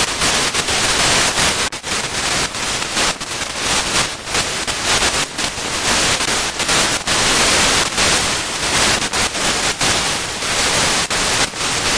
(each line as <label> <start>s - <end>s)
Static sputtering noises 0.0s - 11.9s